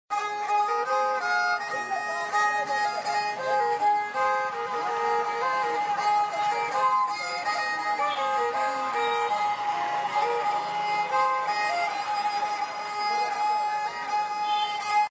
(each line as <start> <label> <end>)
0.1 playing sarangi 15.1